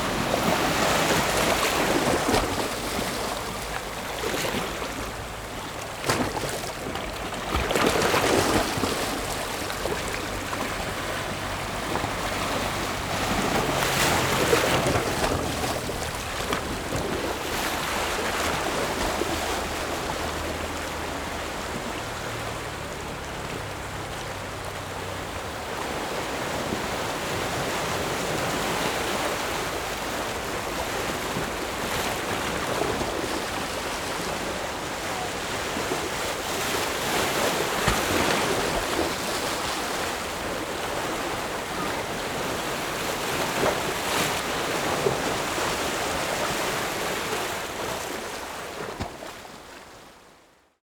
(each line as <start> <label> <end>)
0.0 waves 50.8